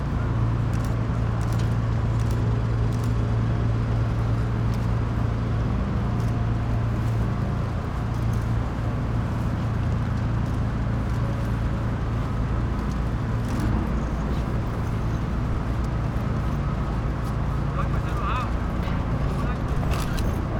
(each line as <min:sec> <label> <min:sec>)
0:10.2 journalists 0:20.5